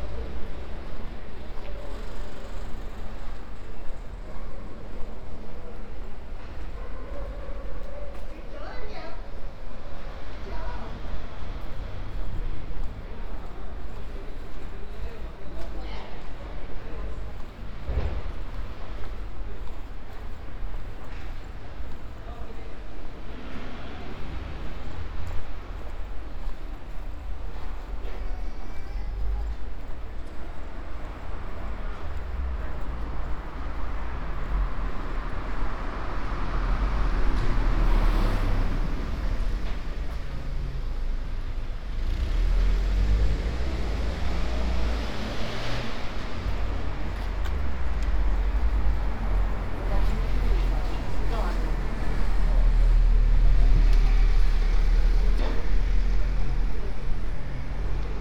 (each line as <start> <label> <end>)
0.0 Shopping in the open air square market 58.2